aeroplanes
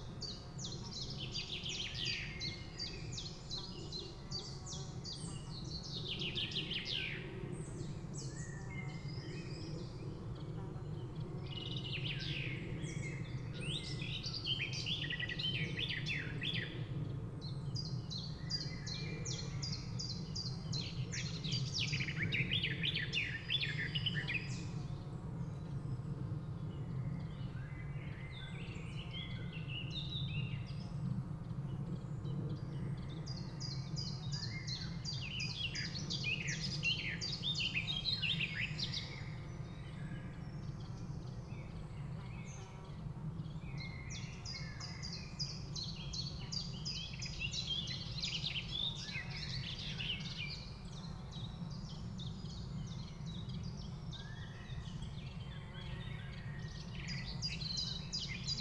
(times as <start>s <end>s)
6.6s 14.3s, 15.6s 18.0s, 24.7s 27.2s